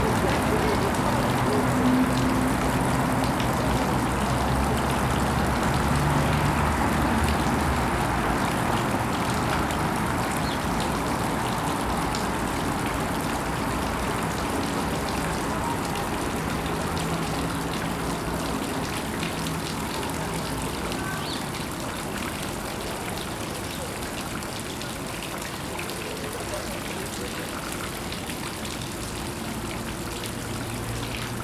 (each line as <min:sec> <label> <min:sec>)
0:00.0 pedestrian crossing 0:23.8
0:00.0 road traffic 0:31.4
0:00.0 water 0:31.4